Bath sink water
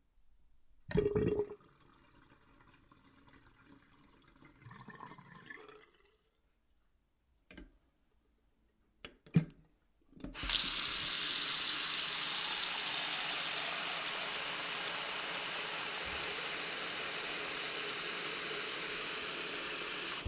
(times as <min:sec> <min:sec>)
0:00.9 0:06.3, 0:10.4 0:20.2